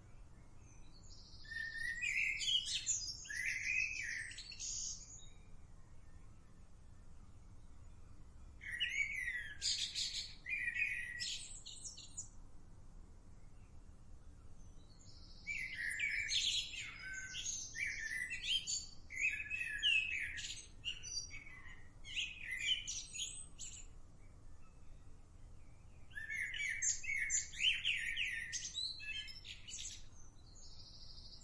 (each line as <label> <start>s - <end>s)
blackbird 0.0s - 12.5s
blackbird 13.3s - 31.4s